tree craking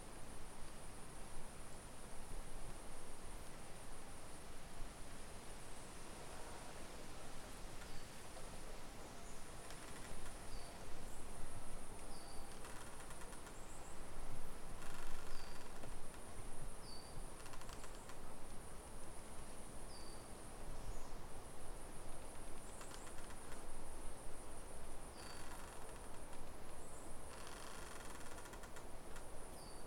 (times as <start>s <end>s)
27.3s 28.8s